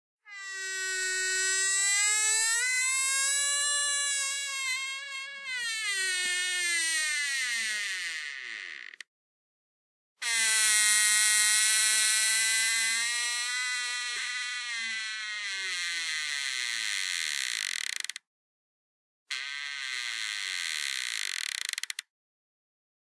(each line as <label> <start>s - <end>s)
Door creaking 0.3s - 9.1s
Door creaking 10.2s - 18.2s
Door creaking 19.3s - 22.1s